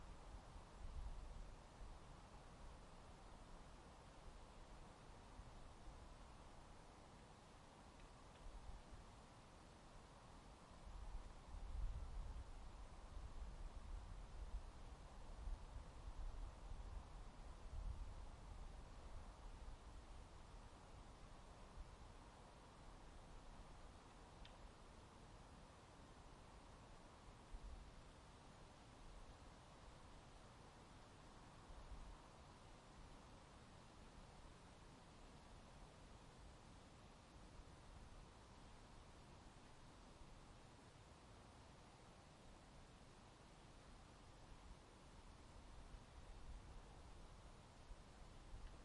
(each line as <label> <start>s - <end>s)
wind 0.0s - 48.8s